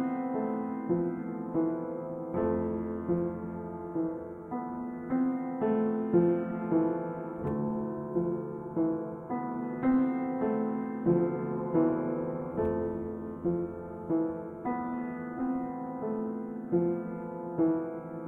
simple piano piece with reverb 0:00.0 - 0:18.2

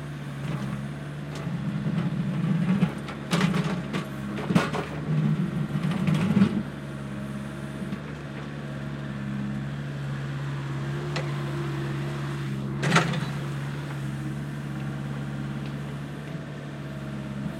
Excavator work 0:00.0 - 0:17.5

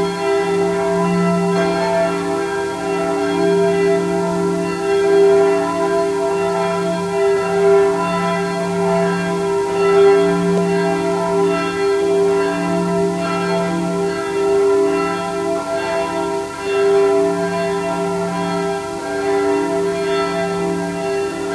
churchbell 0:00.0 - 0:21.5

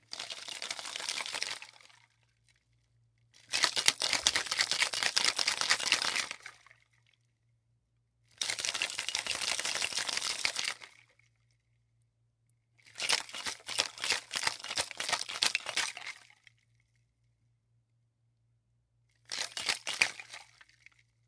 Shaking martini shaker 0:00.0 - 0:02.0
Shaking martini shaker 0:03.5 - 0:06.7
Shaking martini shaker 0:08.4 - 0:11.1
Shaking martini shaker 0:12.8 - 0:16.2
Shaking martini shaker 0:19.3 - 0:20.7

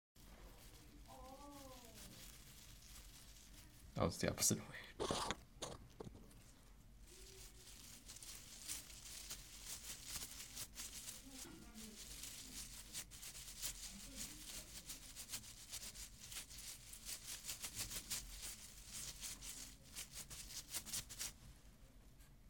Leaves Rustling 0:00.2 - 0:04.2
Leaves Rustling 0:07.0 - 0:21.4

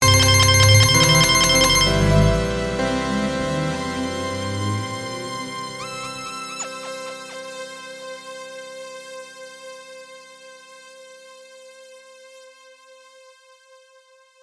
synths 0:00.0 - 0:08.6

